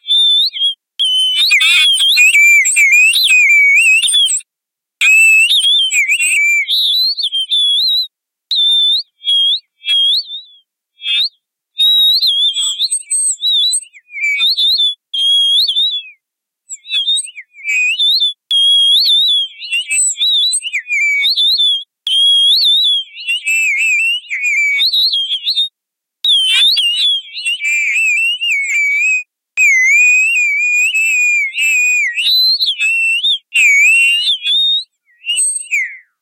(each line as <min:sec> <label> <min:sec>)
0:01.0 Alien birds warbling 0:04.4
0:26.3 Alien birds warbling 0:28.2